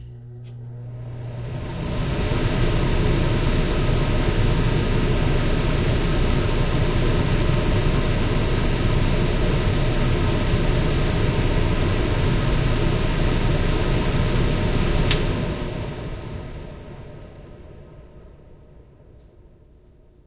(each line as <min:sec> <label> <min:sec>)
0:00.0 stove's fan/vent/blower 0:20.2
0:15.0 nice clicking sound when I turn it off 0:15.4